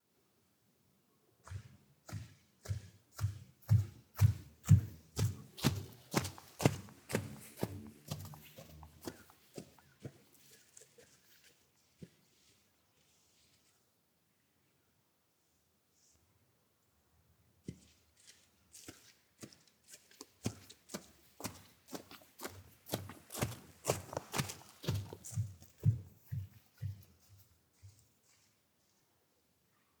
walking angry in the forest 0:03.6 - 0:10.6
walking angry in the forest 0:20.9 - 0:26.1

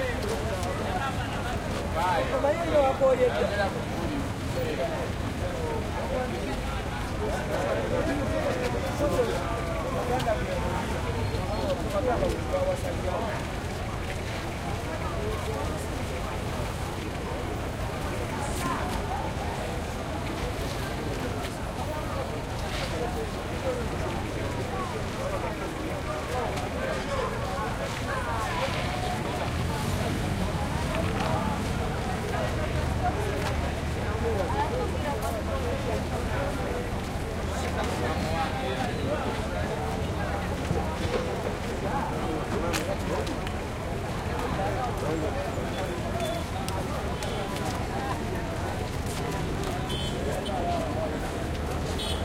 voices 0:00.0 - 0:52.2

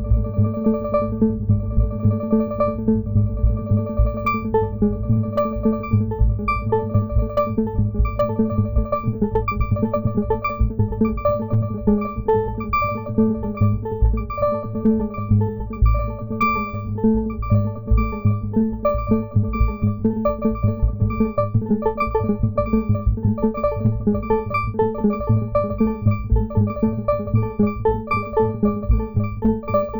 FM modulated bells 0:04.2 - 0:04.6
FM modulated bells 0:05.4 - 0:29.9

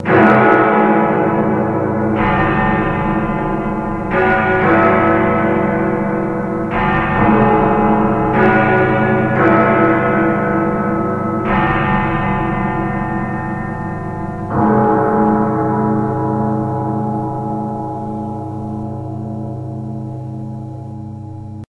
chimes of Big Ben distorted and layered over 0:00.0 - 0:21.6

